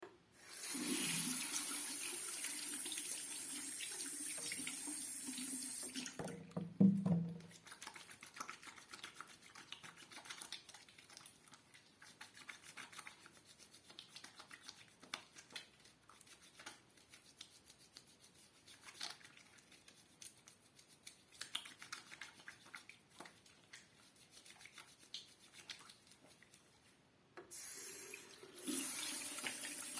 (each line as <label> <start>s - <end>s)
Washing my hands with soap 0.4s - 6.2s
rinsing with water 0.4s - 6.5s
rinsing with water 7.4s - 26.9s
Washing my hands with soap 7.4s - 26.9s
Washing my hands with soap 27.5s - 29.9s
rinsing with water 27.5s - 29.9s